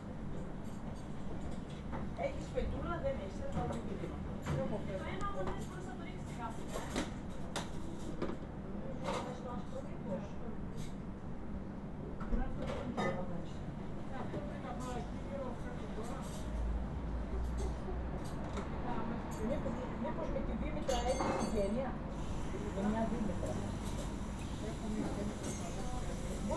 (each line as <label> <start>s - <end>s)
Woman working in a kitchen 0.0s - 26.5s
Woman talking 2.2s - 7.1s
Woman talking 18.8s - 22.0s